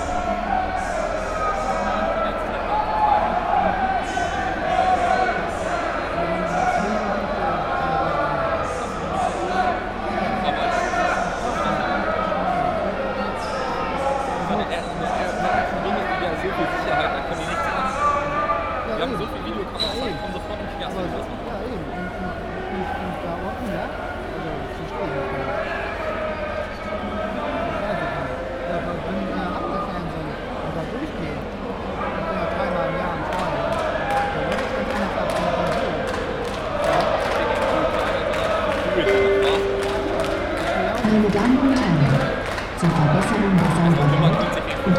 0.0s football fans 44.9s

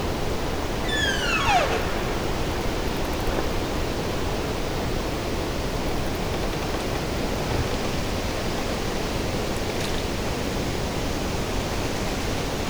0.9s Trees making sounds 3.4s

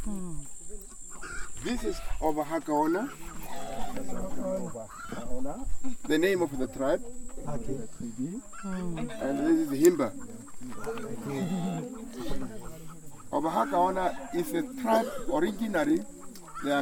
6.0s Himba guide introducing us to the people 16.8s

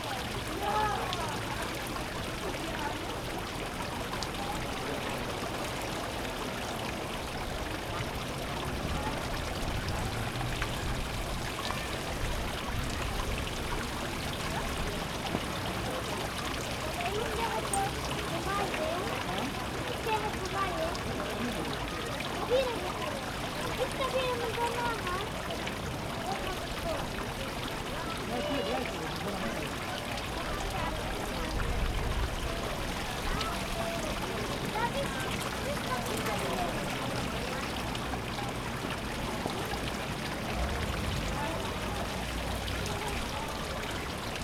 0.0s fountain 44.4s

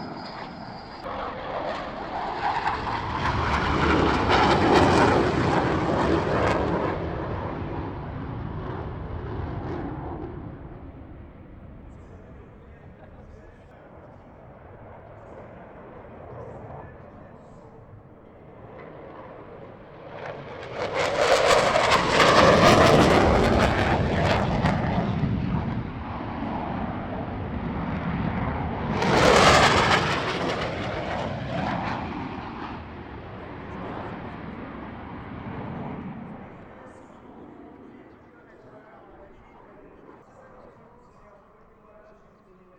0.0s Mirage fighter planes are coming and going above our heads 42.7s

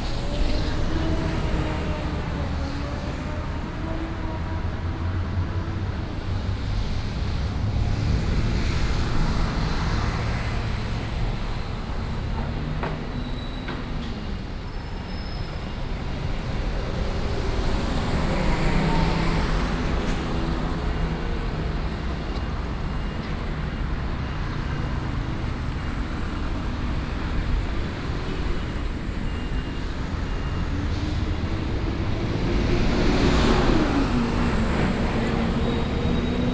0.0s Traffic Sound 36.5s

